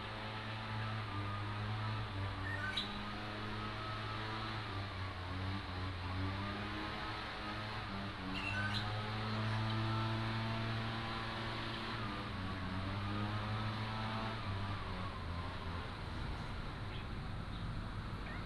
Birdsong 2.4 - 3.2
Birdsong 8.3 - 9.9

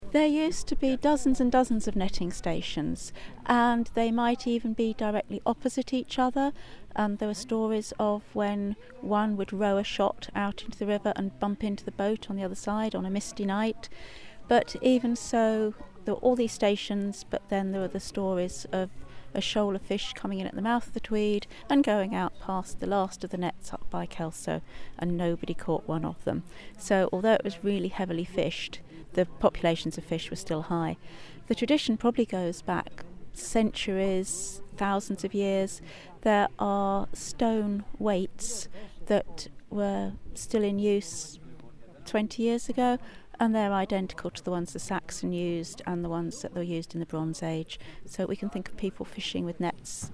Martha talks 0.0 - 41.4
Martha talks 42.0 - 50.1

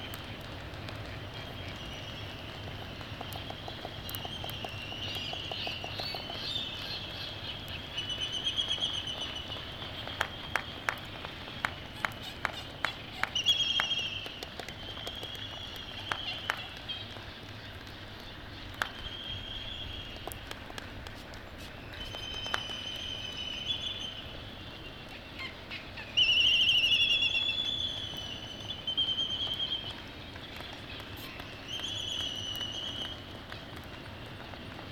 laysan albatross 0.1 - 19.0
black-footed albatross 0.1 - 18.3
white terns 1.0 - 18.7

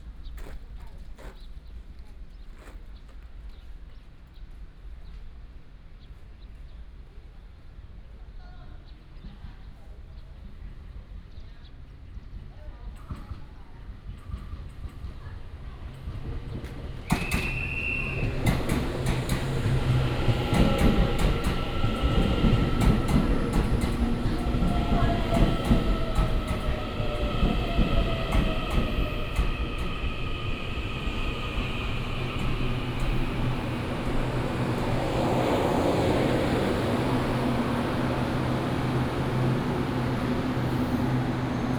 The train arrived at the station 3.4 - 41.7
The train passed 8.8 - 41.7

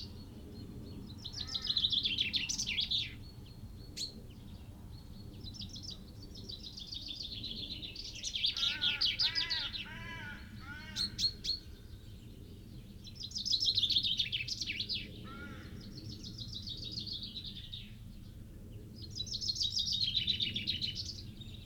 Chaffinch song and call 0.0 - 18.3
blue tit 1.0 - 12.1
crow 1.4 - 1.8
crow 8.5 - 11.3
crow 15.2 - 15.8

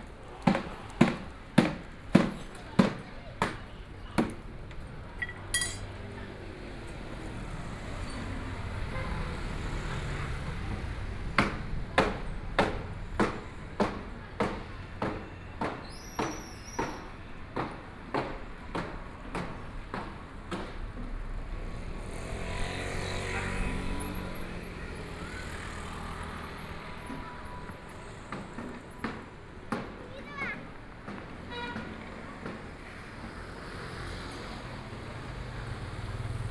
Traffic Sound 0.0 - 36.5

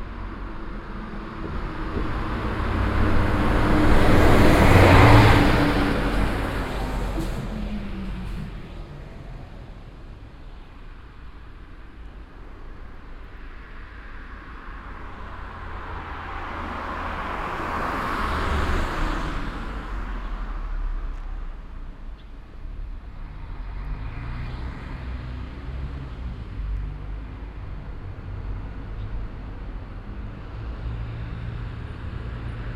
bus that comes from the nearby bus station 0.0 - 32.7
dense traffic 0.0 - 32.7

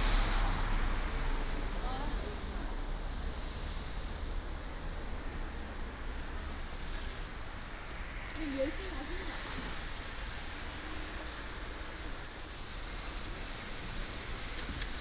Traffic Sound 0.0 - 15.0
Walking in the Street 0.0 - 15.0

